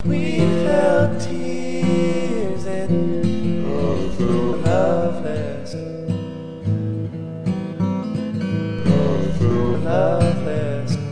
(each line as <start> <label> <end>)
0.0 full bodied larrivee acoustic 11.1